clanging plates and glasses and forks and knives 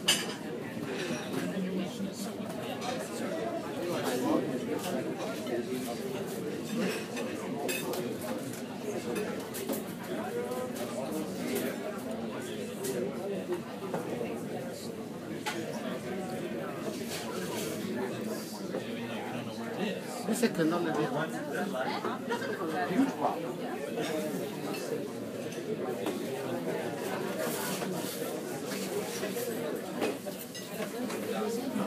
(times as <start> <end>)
0.0 1.6